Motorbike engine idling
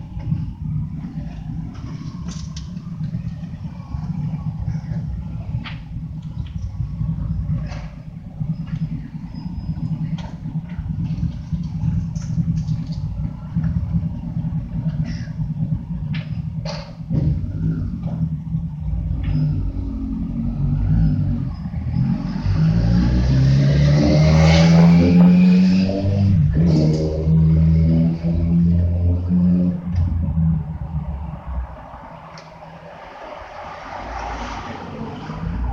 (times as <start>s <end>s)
0.0s 20.4s